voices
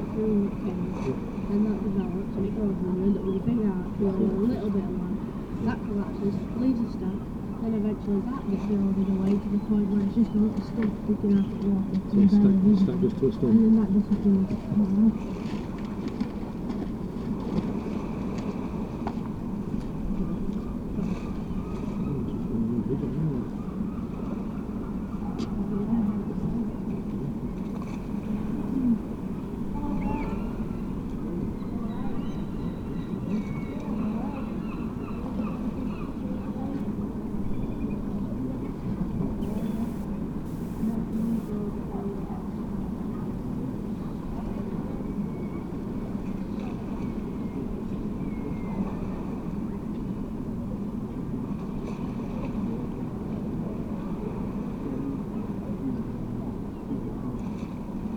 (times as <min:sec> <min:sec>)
0:39.4 0:42.2